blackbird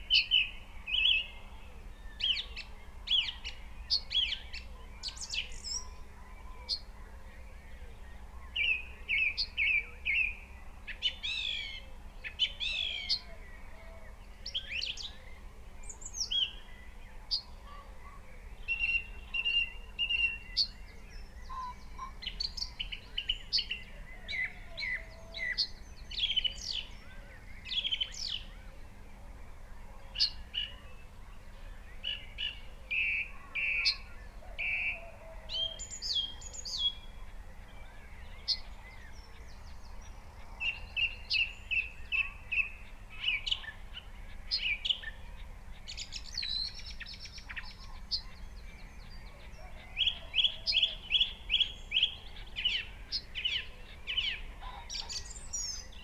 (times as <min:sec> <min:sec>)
0:40.6 0:56.0